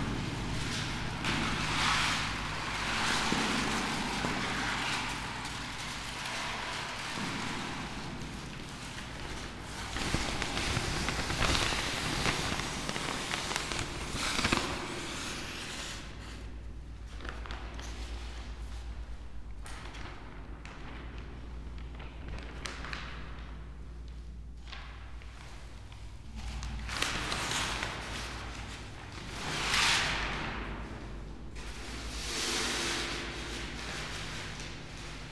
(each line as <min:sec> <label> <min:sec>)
0:09.1 steps 0:16.1
0:09.3 paper 0:16.4
0:09.8 scroll book 0:16.4